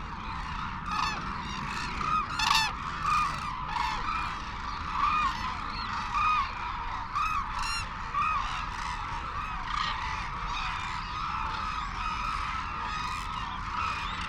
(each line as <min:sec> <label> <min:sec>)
0:00.0 calls and flight calls from white naped cranes and hooded cranes 0:14.2
0:00.0 windy 0:14.2